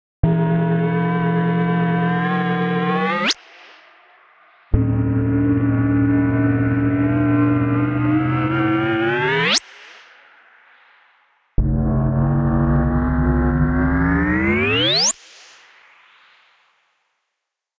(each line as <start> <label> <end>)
4.8 warpdrive-short-edit 9.5
11.6 warpdrive-short-edit 15.1